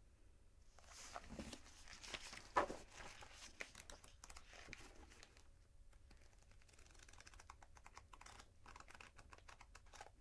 book handling 0.8 - 5.4
turning the pages 0.8 - 10.2

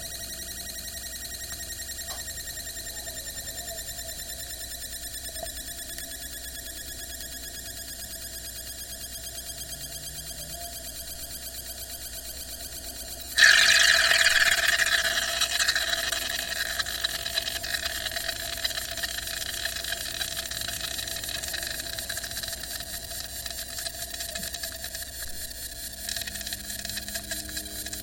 metal water bottle 13.4 - 24.6

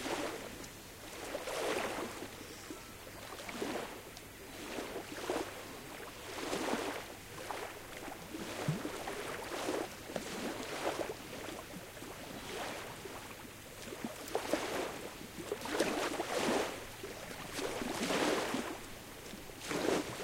waves 0.0 - 20.2

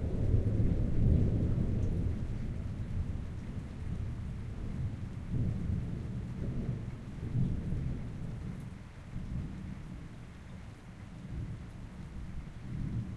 gentle rain 0.0 - 13.1

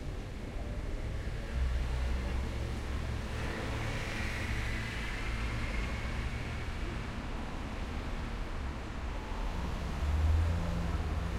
traffic on a busy road 0.0 - 11.3

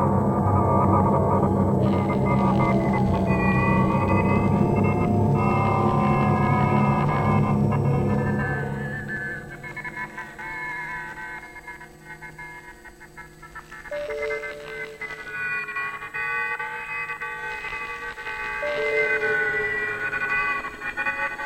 synth 0.0 - 21.4

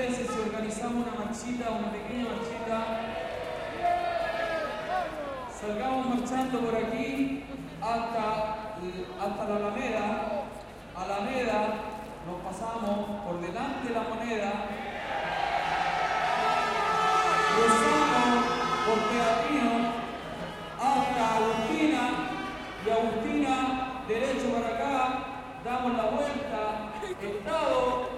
crowd 0.0 - 28.1
vuvuzelas in crecendo 14.8 - 24.1
la medallita 16.1 - 28.0

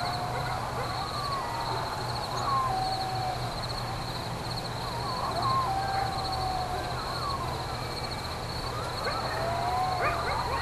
reacting dogs 0.0 - 3.6
coyotes barking and howling 0.0 - 10.6
crickets 0.0 - 10.6
distant siren 0.0 - 10.6
reacting dogs 5.0 - 7.4
reacting dogs 8.8 - 10.6

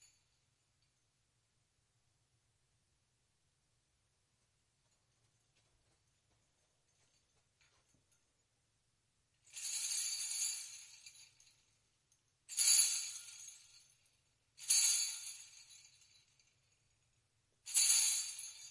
Little Bells 9.4 - 18.7

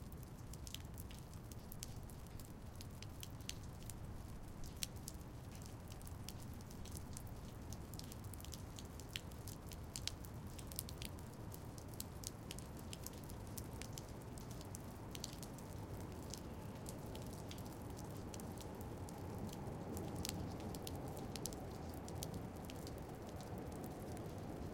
dripping rain 0.0 - 24.7
traffic 15.0 - 24.7

